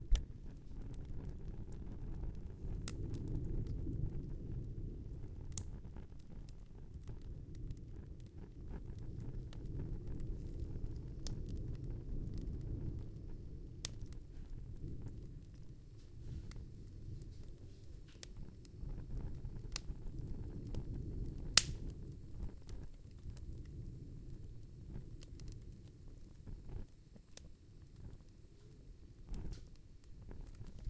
0.0s Fire Crackle 30.8s

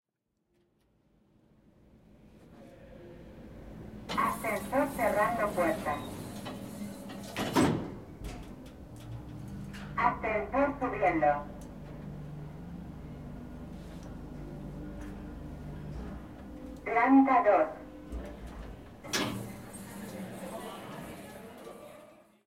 3.5s elevator 17.1s
4.1s voice 6.2s
10.0s voice 11.6s
16.8s voice 17.8s
17.8s elevator 21.8s

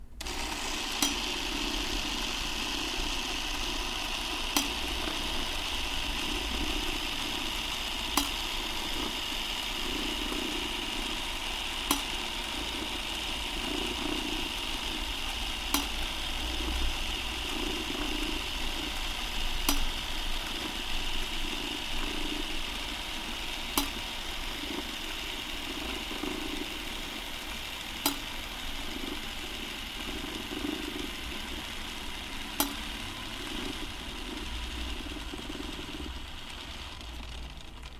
0.0s Motor da antiga camera 16mm do Zé Pintor rodando 37.9s

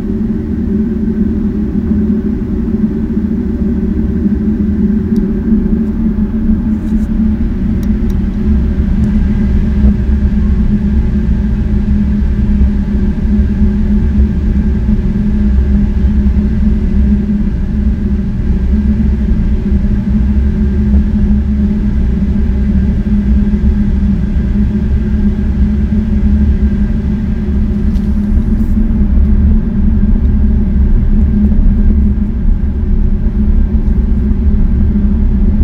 0.0s Central heating boiler switching on and working 35.6s

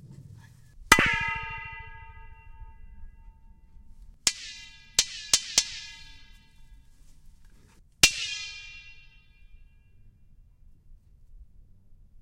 0.7s Pipe Reverb 10.1s
0.9s hits 3.7s
4.3s hits 6.6s
8.0s hits 9.2s

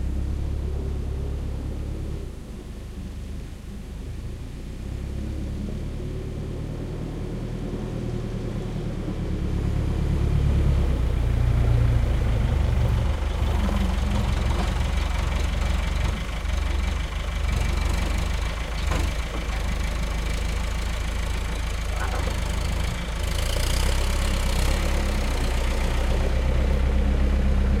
0.0s forklift 27.8s
0.0s tractor 27.8s
13.0s loading truck with blackcurrant 24.4s

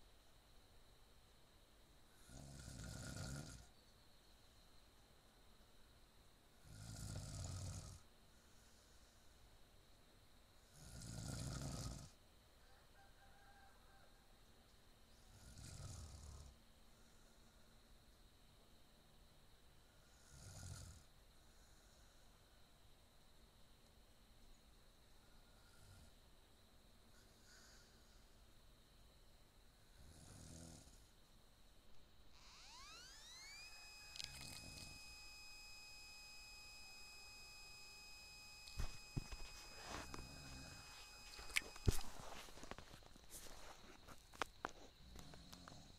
2.2s snoring 3.7s
6.6s snoring 8.0s
10.7s snoring 12.2s
15.3s snoring 16.6s
20.0s snoring 21.1s
30.0s snoring 31.1s
45.0s snoring 45.9s

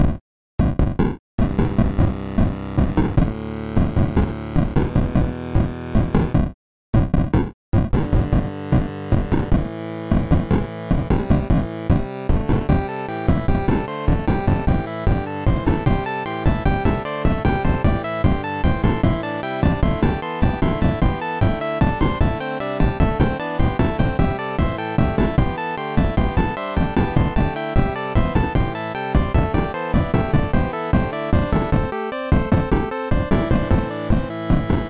7.9s Drums 34.8s

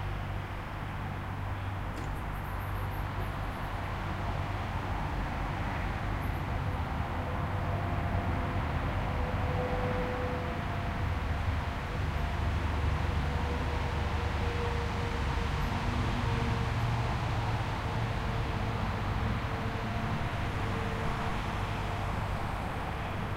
0.0s trucks 23.3s

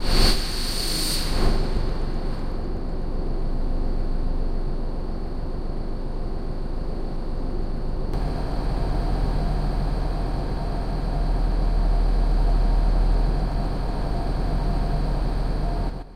8.2s noisy granular pad 16.1s

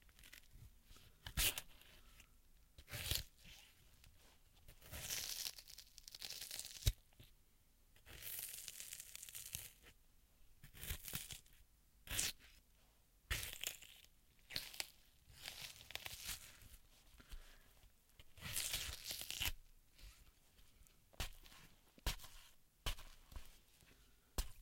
18.4s Melon Stabs (Juicy) 19.5s

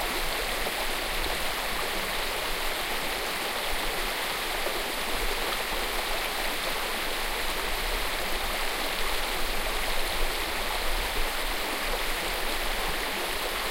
0.0s small stream 13.7s

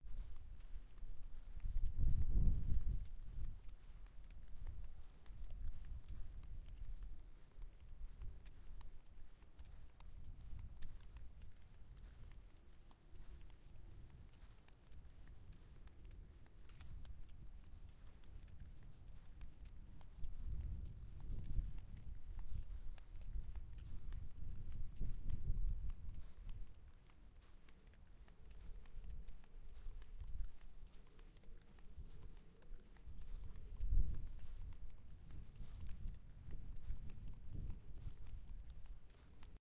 0.0s wind 39.6s

